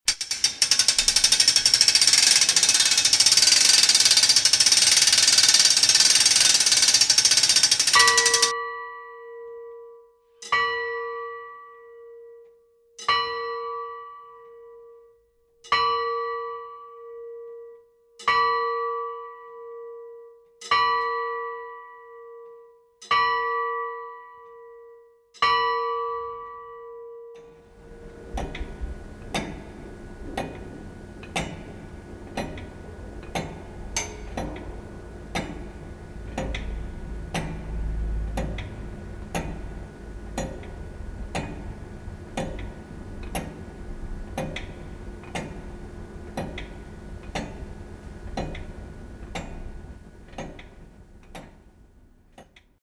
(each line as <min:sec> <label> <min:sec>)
0:00.1 aufziehen, ticken und schlagen der alten rathaus uhr 0:08.5